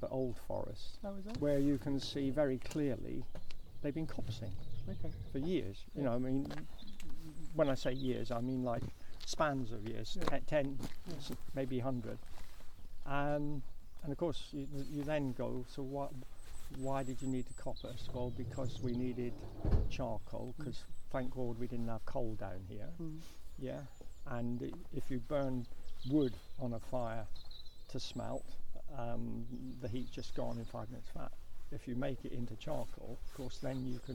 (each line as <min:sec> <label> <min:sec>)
0:00.0 Talk to Dartmoor Park Ranger 0:12.4
0:13.0 Talk to Dartmoor Park Ranger 0:34.1